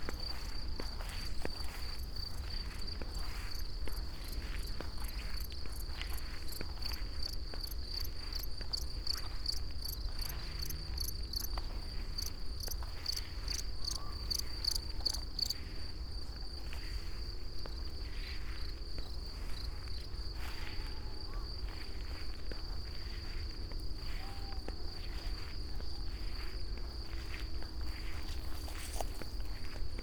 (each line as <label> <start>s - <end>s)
crickets allover 0.0s - 30.0s